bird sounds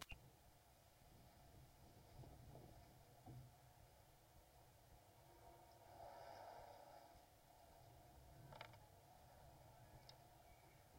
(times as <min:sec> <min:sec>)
0:09.3 0:10.9